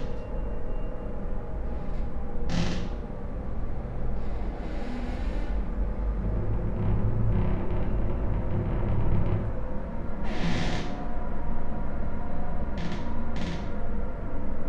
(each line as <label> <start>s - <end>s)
creaky lullaby 0.0s - 14.6s
traffic noise 0.0s - 14.6s